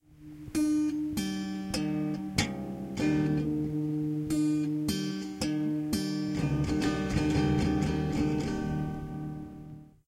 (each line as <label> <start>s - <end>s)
strumming my guitar 0.0s - 10.0s